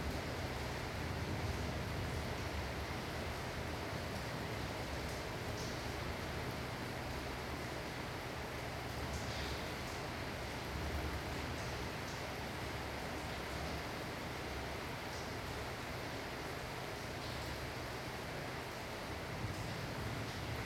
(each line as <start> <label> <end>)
0.0 rain 20.6